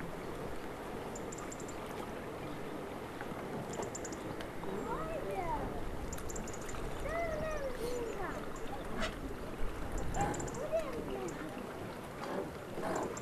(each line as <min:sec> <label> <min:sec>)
0:00.0 boats 0:13.2
0:00.0 metallic river dock 0:13.2
0:00.0 water 0:13.2
0:06.8 children 0:09.2
0:10.2 children 0:11.5